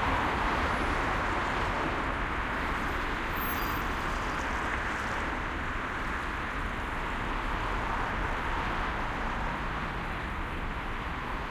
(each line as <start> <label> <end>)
0.0 heavy traffic 11.5